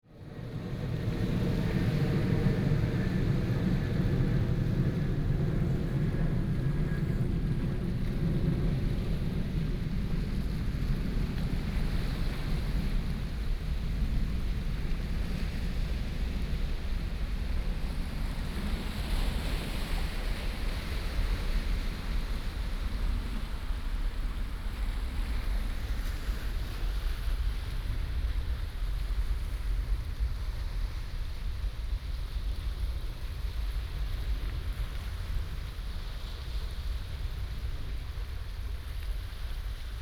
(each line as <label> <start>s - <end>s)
waves 0.1s - 40.0s